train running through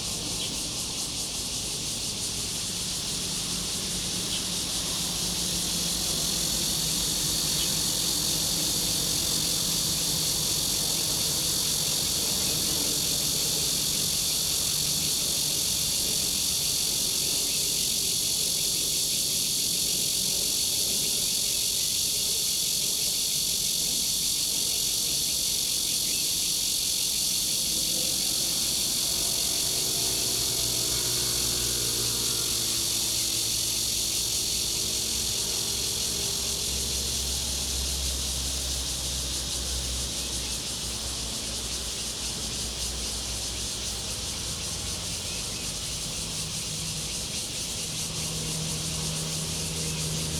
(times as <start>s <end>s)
27.3s 41.9s